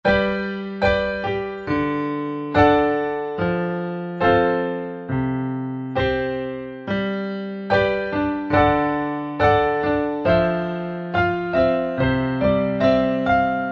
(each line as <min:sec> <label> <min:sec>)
0:00.0 Piano Solo 0:13.7